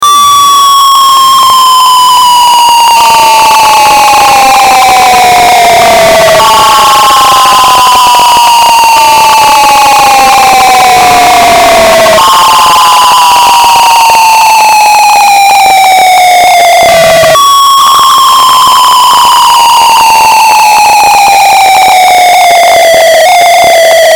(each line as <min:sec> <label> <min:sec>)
0:00.0 Firework 0:24.1